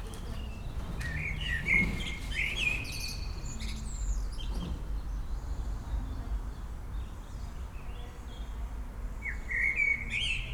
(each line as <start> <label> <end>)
0.0 people inside the building 10.5